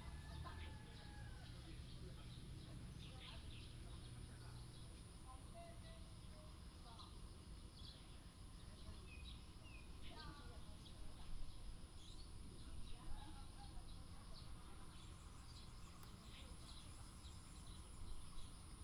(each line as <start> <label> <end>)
0.0 sound of birds 18.8